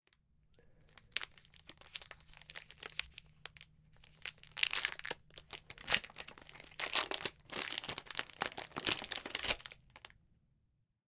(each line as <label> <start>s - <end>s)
Unwrapping a plastic wrapper of candy bar 0.8s - 10.1s